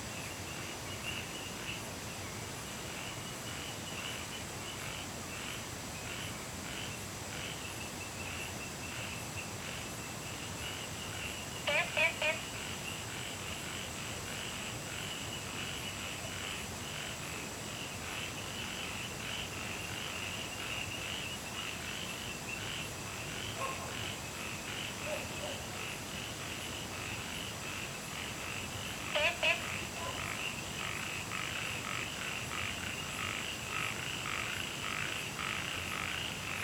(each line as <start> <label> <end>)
0.1 Insects sounds 36.6
2.9 Frogs chirping 36.6